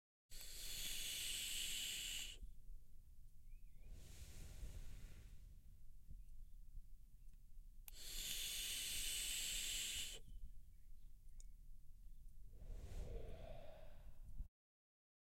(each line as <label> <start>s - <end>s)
person using a vaporizer 0.3s - 2.4s
person using a vaporizer 7.9s - 10.3s